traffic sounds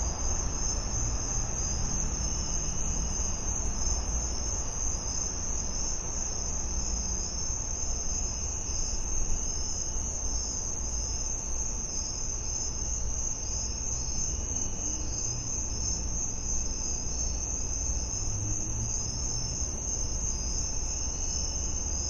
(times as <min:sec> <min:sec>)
0:00.0 0:07.3, 0:13.7 0:22.0